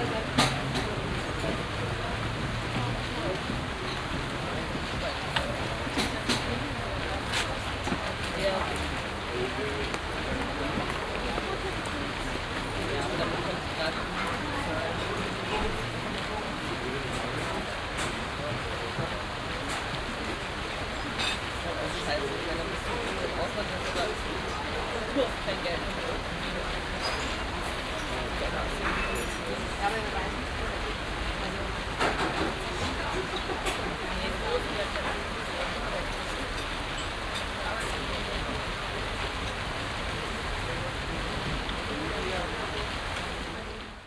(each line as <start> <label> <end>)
0.0 busy cafe 44.0
0.0 fountains 44.0